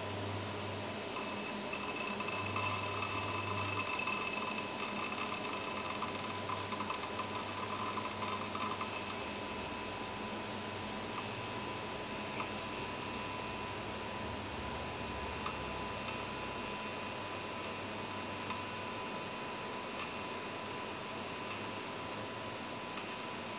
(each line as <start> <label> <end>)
0.0 small halogen light in the bathroom buzzing 23.5